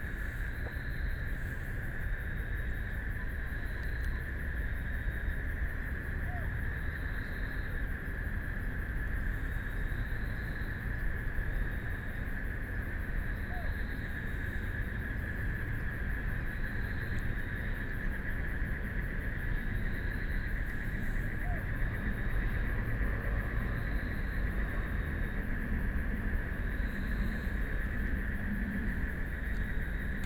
Frogs sound 0:08.9 - 0:30.2
Traffic Sound 0:19.8 - 0:30.2

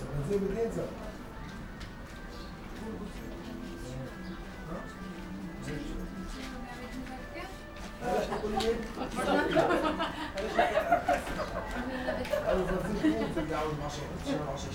guys talking in a language 0:02.8 - 0:14.7

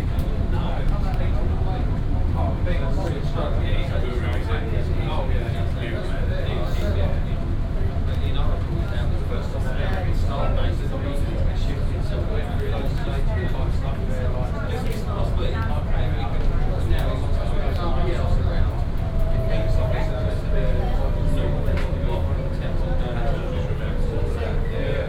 shuttle ride to the north terminal 0:00.0 - 0:25.0

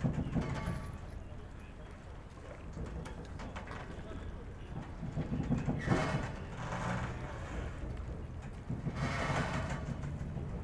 voices 0:00.0 - 0:08.1

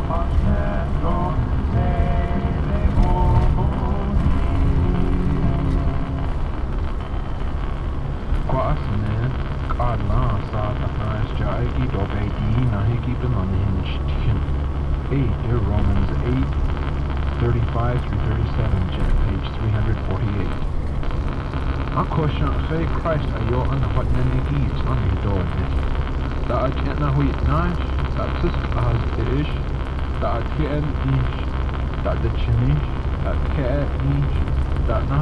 Navaho radio 0:00.0 - 0:35.2

